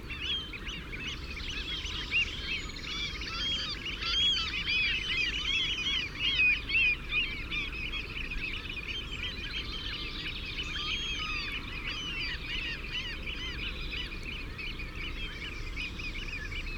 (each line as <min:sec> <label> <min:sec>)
0:00.1 curlew 0:16.7